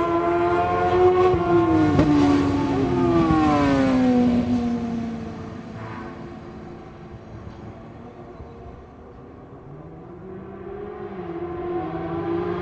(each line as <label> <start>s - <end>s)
Sidecar 0.0s - 11.8s